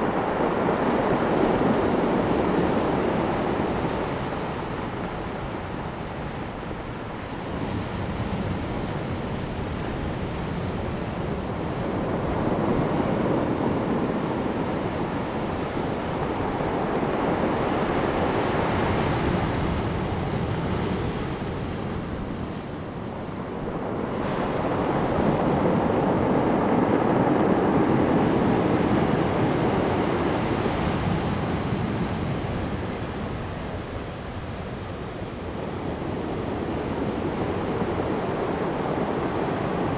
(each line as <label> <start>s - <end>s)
waves 0.0s - 39.9s